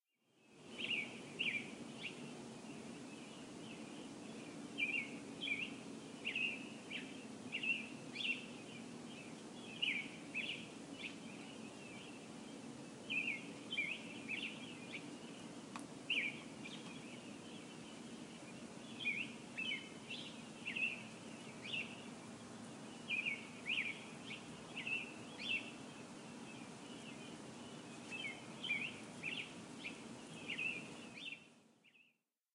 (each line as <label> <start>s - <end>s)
Slight ambient hiss 0.2s - 32.1s
birds chirping 0.5s - 32.1s